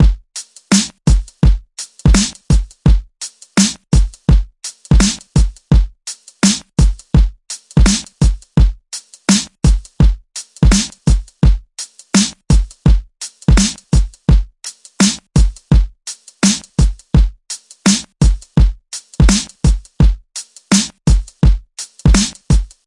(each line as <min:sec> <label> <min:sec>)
0:00.0 drumloop 0:22.8